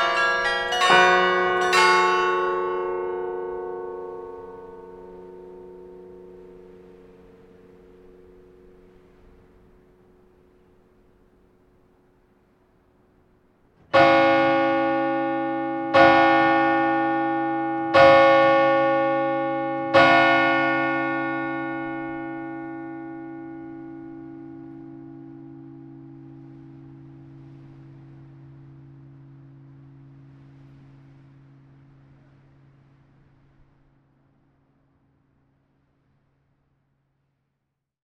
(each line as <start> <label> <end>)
0.0 Carillon 6.7